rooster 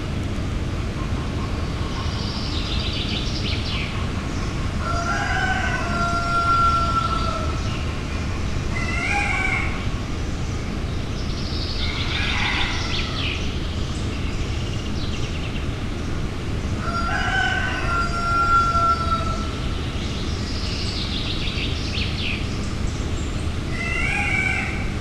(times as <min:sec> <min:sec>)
0:04.8 0:07.7, 0:08.7 0:09.8, 0:11.8 0:13.3, 0:16.8 0:19.5, 0:23.7 0:25.0